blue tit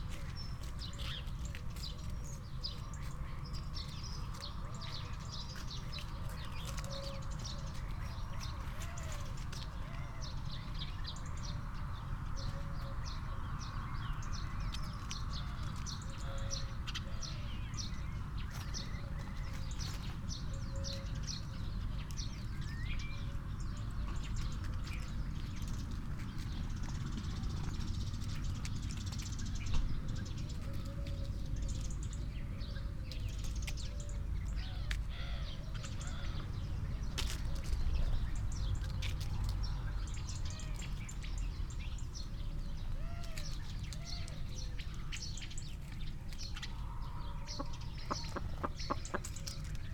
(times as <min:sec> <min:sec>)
0:28.9 0:49.9